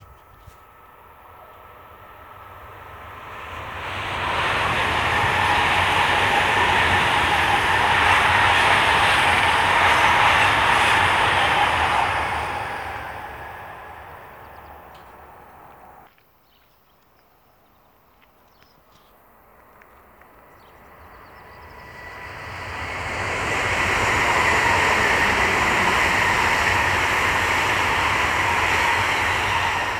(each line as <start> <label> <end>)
0.0 High-speed Train ICE passing 16.1
18.7 High-speed Train ICE passing 29.9